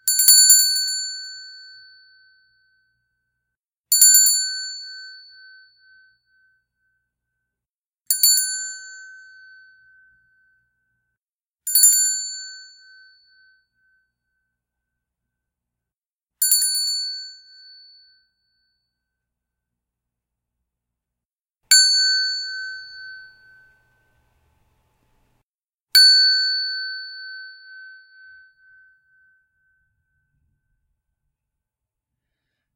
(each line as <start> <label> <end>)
0.0 Ringing of a small metal bell 3.1
3.9 Ringing of a small metal bell 7.0
8.1 Ringing of a small metal bell 11.1
11.7 Ringing of a small metal bell 14.6
16.4 Ringing of a small metal bell 19.1
21.7 Ringing of a small metal bell 24.1
26.0 Ringing of a small metal bell 30.4